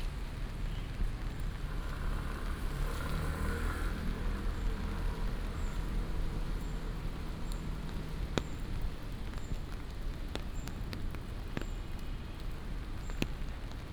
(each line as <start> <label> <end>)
0.0 Walking in the rain 13.9
0.0 Raindrop sound 13.9